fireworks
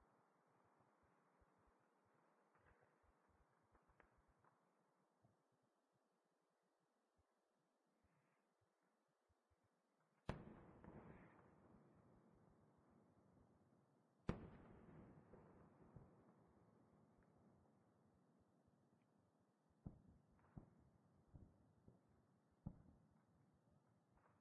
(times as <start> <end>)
10.2 12.5, 14.2 17.6, 19.8 24.4